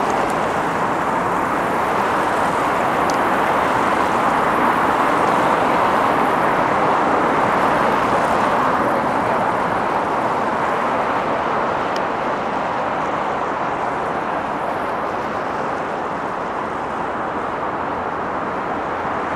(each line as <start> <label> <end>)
0.0 passing cars 19.3